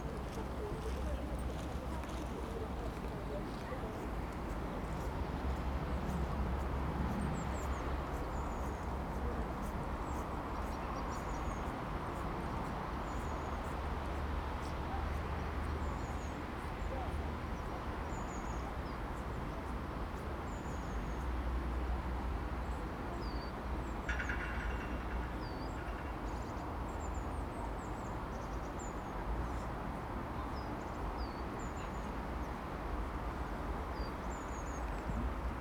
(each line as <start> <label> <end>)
0.0 Walkers 6.2
0.0 cyclists 19.8